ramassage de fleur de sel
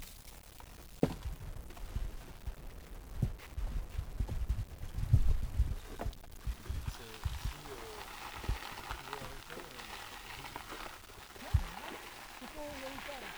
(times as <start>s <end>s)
6.4s 13.3s